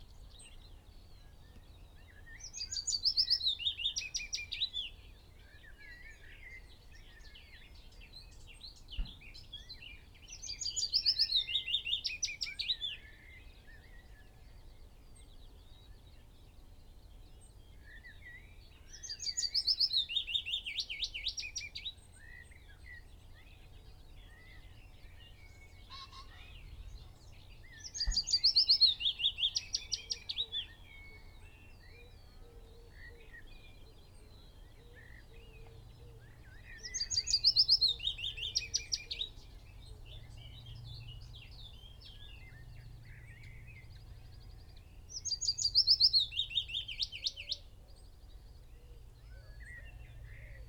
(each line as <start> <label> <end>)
0.0 blackbird 16.3
0.0 background noise 50.6
0.0 willow warbler song 50.6
17.0 blackbird 50.6
17.4 pheasant 50.6
27.8 blackcap 30.4